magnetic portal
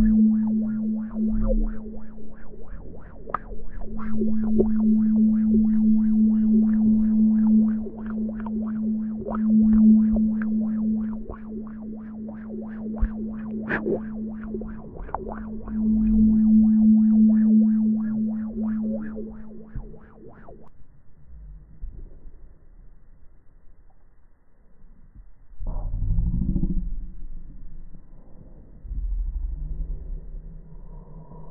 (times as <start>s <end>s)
0.0s 20.7s